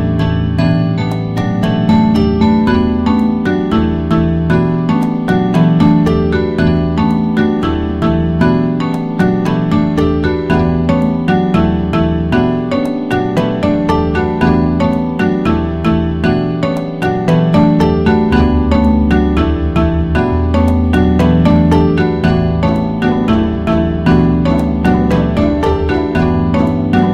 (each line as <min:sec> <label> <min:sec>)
0:00.0 drums 0:27.1
0:00.9 xylophone 0:27.1